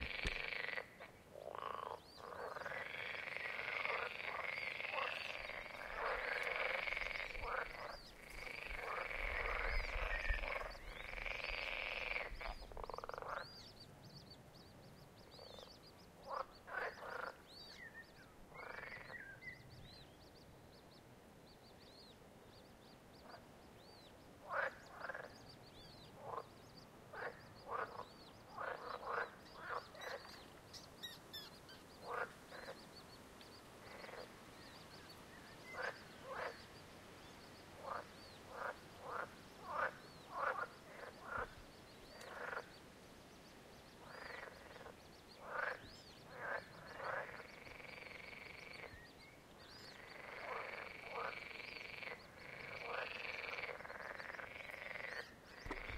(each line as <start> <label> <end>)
0.0 frogs croaking loud 13.6
16.2 frogs croaking loud 17.5
18.5 frogs croaking loud 19.3
24.4 frogs croaking loud 25.4
26.2 frogs croaking loud 26.5
27.1 frogs croaking loud 30.4
32.0 frogs croaking loud 32.9
33.8 frogs croaking loud 34.4
35.7 frogs croaking loud 36.7
37.8 frogs croaking loud 42.8
44.0 frogs croaking loud 49.1
49.8 frogs croaking loud 55.9